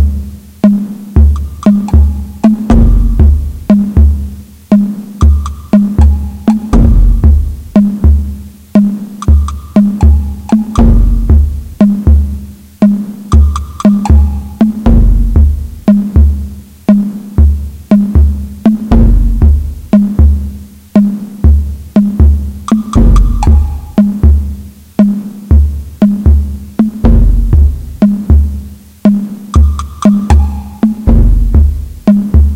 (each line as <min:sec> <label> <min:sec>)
0:00.0 Tom Drums 0:32.5
0:01.2 Taiko Drum 0:04.3
0:05.2 Taiko Drum 0:08.3
0:09.2 Taiko Drum 0:16.4
0:21.5 Taiko Drum 0:24.6
0:29.6 Taiko Drum 0:32.5